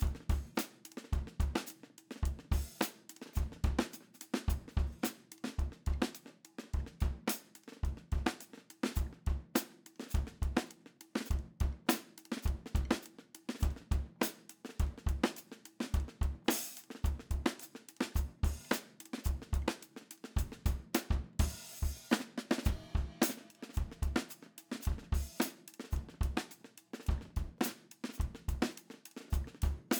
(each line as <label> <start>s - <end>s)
drums 0.0s - 29.9s